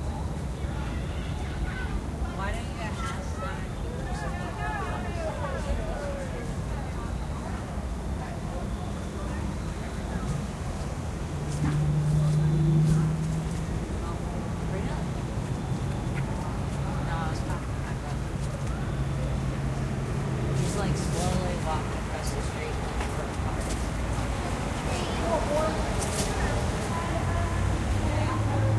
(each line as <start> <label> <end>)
0.0 cars 28.7
0.0 groups of children 28.7
0.0 voices 28.7